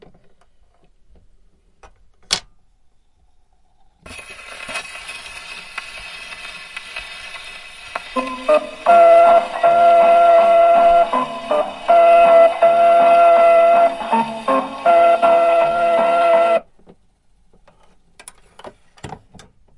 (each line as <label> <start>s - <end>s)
vinyl starts playing 4.1s - 16.7s